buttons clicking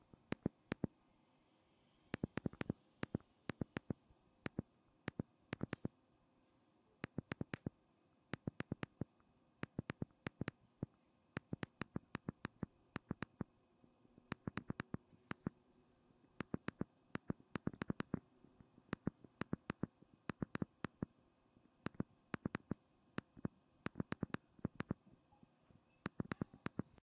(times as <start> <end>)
0.2 0.9, 2.2 5.9, 7.0 7.7, 8.3 10.6, 11.4 13.5, 14.3 15.5, 16.4 18.2, 18.9 21.1, 21.8 25.0, 26.0 27.0